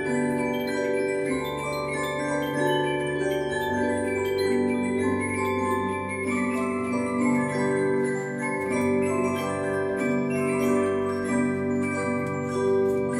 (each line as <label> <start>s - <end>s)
Musical Clock 0.0s - 13.1s